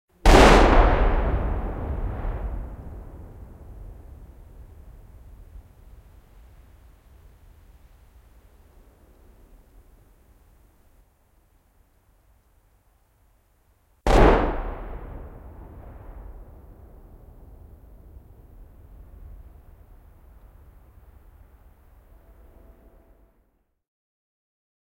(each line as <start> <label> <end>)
0.3 two echoing gunshots 3.4
14.1 two echoing gunshots 16.5